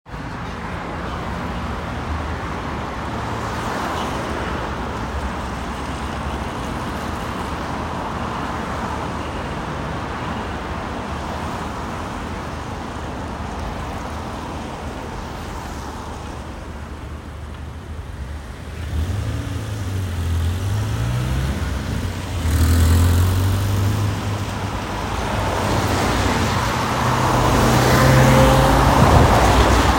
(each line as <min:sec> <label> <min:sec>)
0:00.0 traffic 0:29.9